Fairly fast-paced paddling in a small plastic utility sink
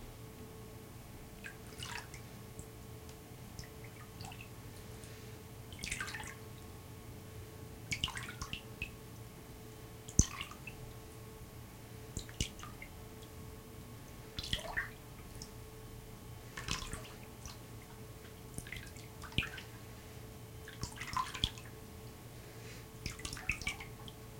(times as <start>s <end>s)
20.6s 21.6s